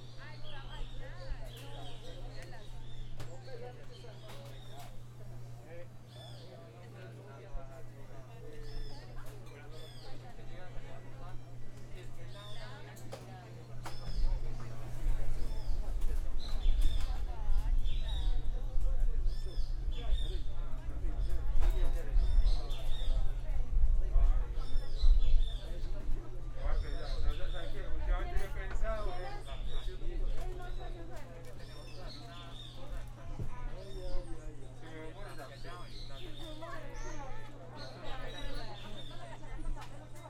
Personas conversando 0:00.0 - 0:40.2

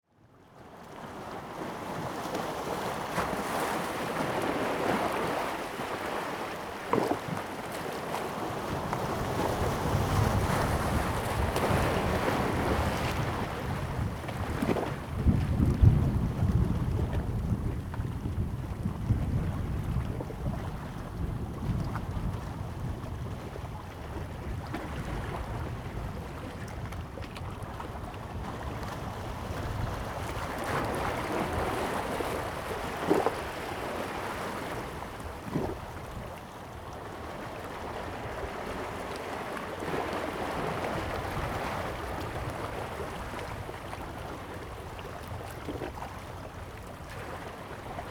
Waves and rocks 0:01.1 - 0:48.1

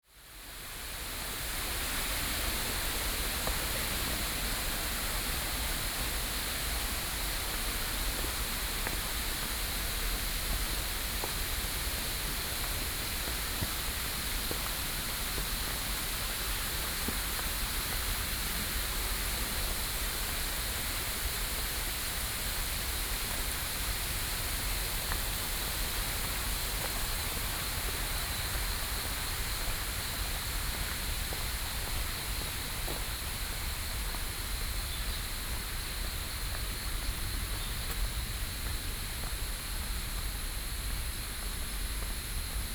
Cicadas 0:00.2 - 0:42.7

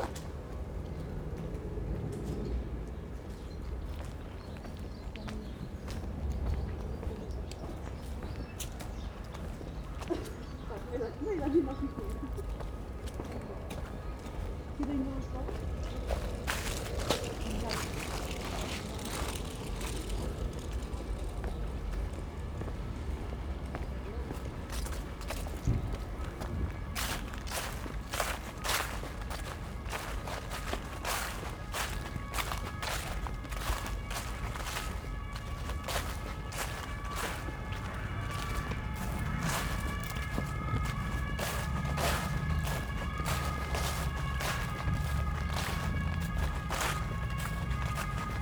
sirens approach and then stop abruptly 0:00.0 - 0:48.4
small flock of chattering sparrows 0:02.1 - 0:48.4
Walking through autumn leaves 0:02.9 - 0:48.4
helicopter flies over 0:14.8 - 0:23.5
pigeons in flight 0:15.1 - 0:22.7

